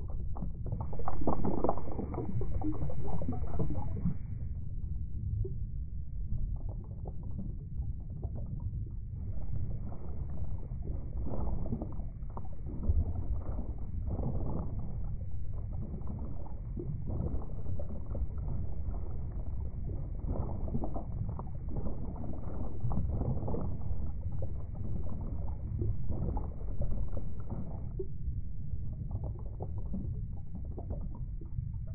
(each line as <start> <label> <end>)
0.0 simulated underwater ambience 31.9
0.0 bubbles 4.6
5.5 bubbles 31.9